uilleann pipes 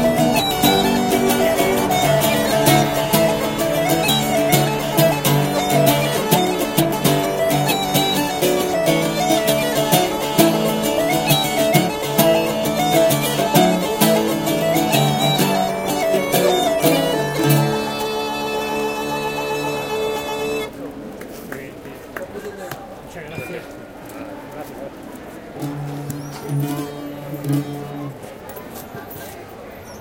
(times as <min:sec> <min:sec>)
0:00.0 0:20.7